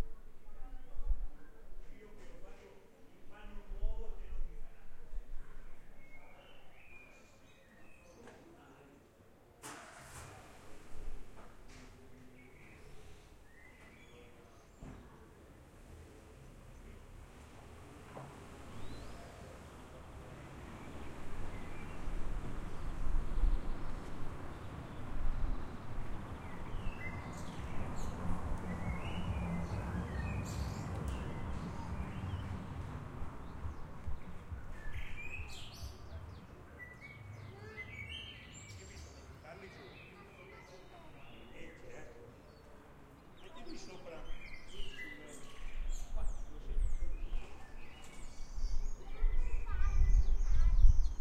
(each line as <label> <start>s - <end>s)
birds singing 12.2s - 15.0s
cars moving 15.9s - 34.7s
birds singing 18.7s - 51.2s
children 25.5s - 34.8s
people chatting 28.8s - 32.6s
children 35.4s - 41.5s
children 47.4s - 51.2s
people chatting 49.0s - 51.0s